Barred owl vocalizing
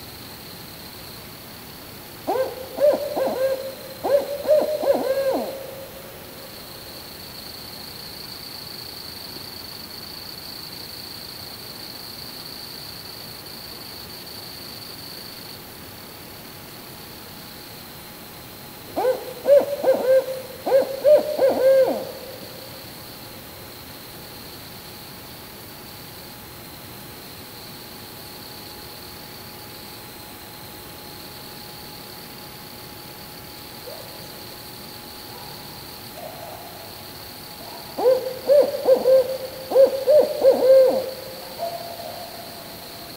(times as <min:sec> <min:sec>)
0:02.3 0:06.2, 0:19.0 0:22.6, 0:38.0 0:42.4